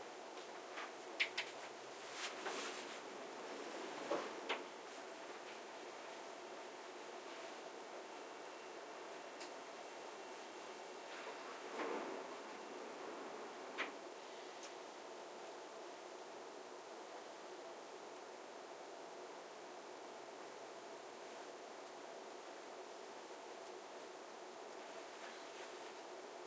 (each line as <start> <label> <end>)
1.7 inside a train arriving 26.4